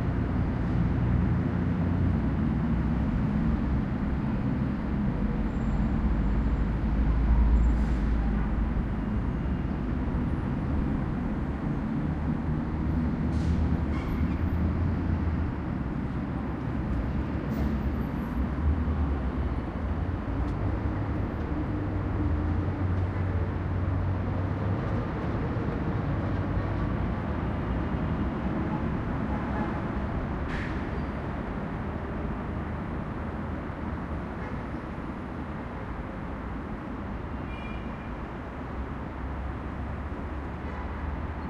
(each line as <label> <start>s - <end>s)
traffic 0.0s - 41.4s